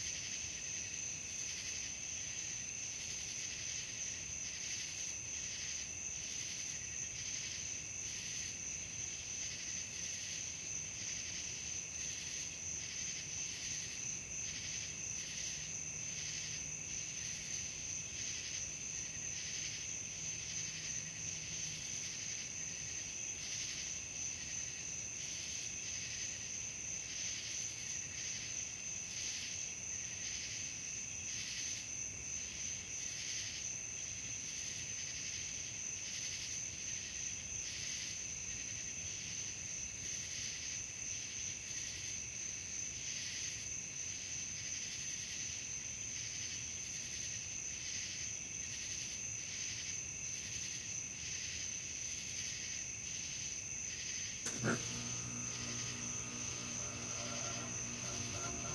0.0s cicadas 58.7s
0.0s crickets 58.7s
54.4s A/C unit 58.7s

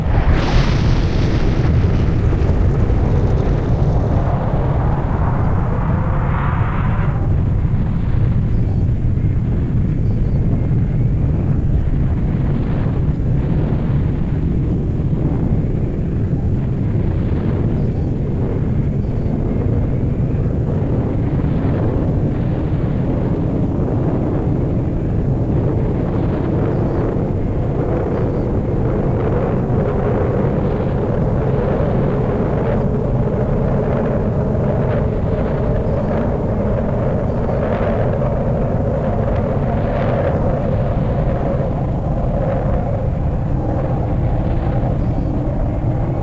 0.0s boom 9.7s
0.0s deep rocket engine sound 46.2s

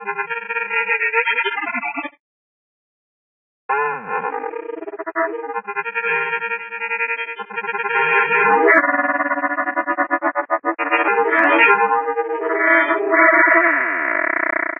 3.9s granular synthesizer feuertropfen 14.7s

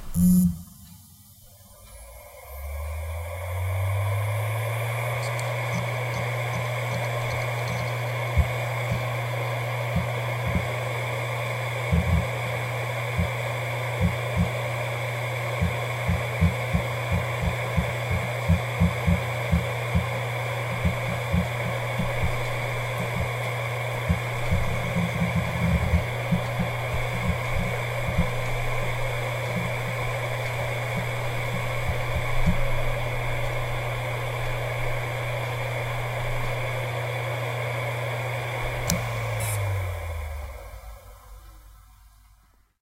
0.0s hard drive 42.7s

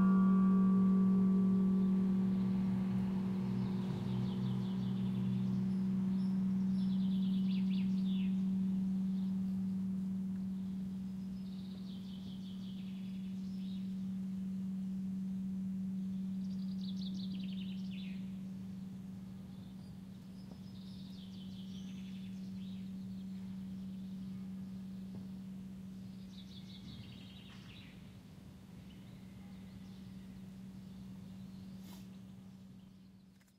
0.0s bell tower that chimes the hour 27.6s
0.0s birds chirp 33.5s

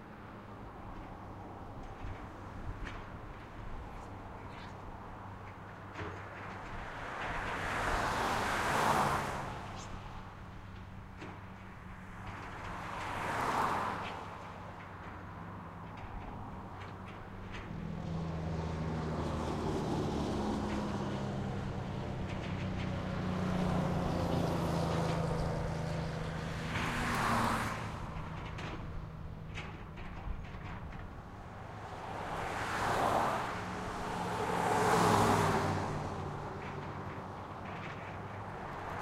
0.0s traffic 39.0s
0.0s trucks 39.0s
10.4s tractor's frame rattling 39.0s

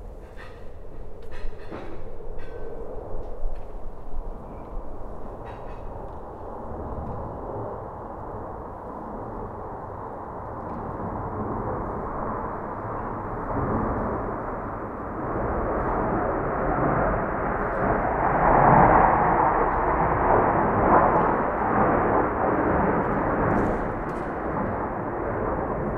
0.0s sounds of other neighbours into their kitchens 6.5s
0.0s pair of fighter airplanes flying together 25.9s

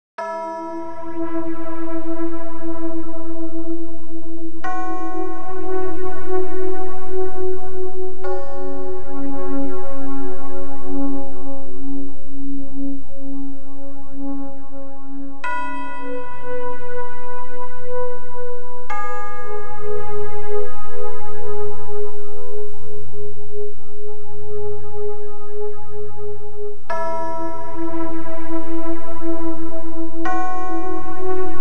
8.2s bells 9.8s
26.9s bells 29.2s

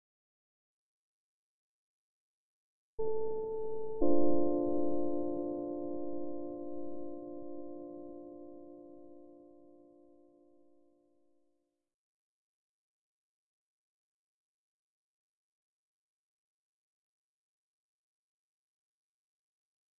3.0s electric piano 11.0s

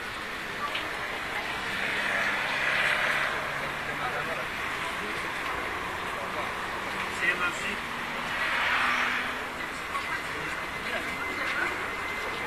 9.4s dozens young people walking 12.4s

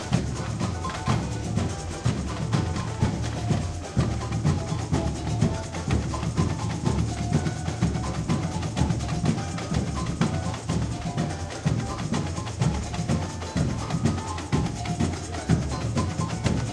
0.0s Samba batucada rehearsal 16.7s

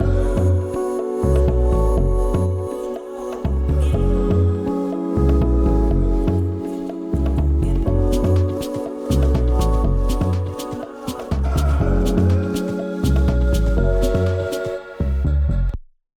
0.0s bass 2.6s
0.0s melody 15.3s
0.0s synth 15.7s
3.5s bass 6.6s
7.2s bass 10.5s
11.3s bass 14.4s
15.0s bass 15.8s

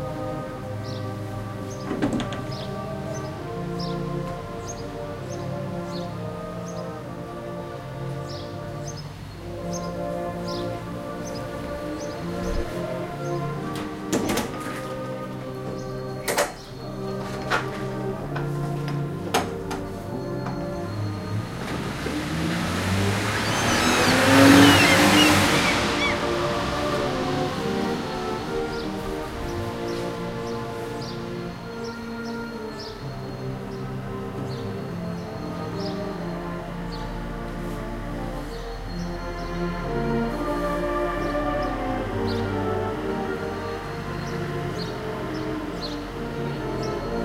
0.0s Cars 47.2s
0.2s Birds 7.5s
8.1s Birds 37.7s
9.4s Salvation army playing 36.8s
41.1s Birds 42.6s
43.4s Birds 47.2s

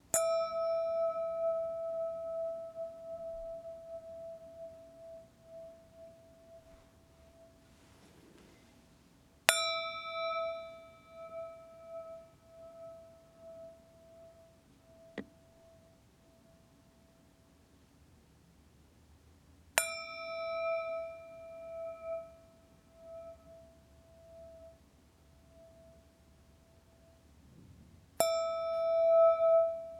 0.1s crystal glass struck and moved in front of a stereo microphone 8.9s
9.5s crystal glass struck and moved in front of a stereo microphone 14.4s
19.8s crystal glass struck and moved in front of a stereo microphone 24.7s
27.6s crystal glass struck and moved in front of a stereo microphone 29.9s

